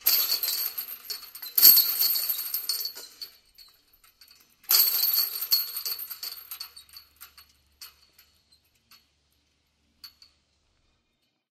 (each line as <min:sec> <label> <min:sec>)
0:00.0 Rattling Chains 0:09.2